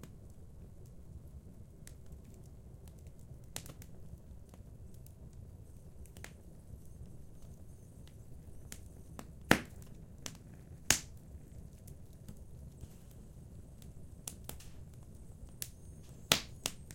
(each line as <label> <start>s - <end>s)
fireplace 0.0s - 16.9s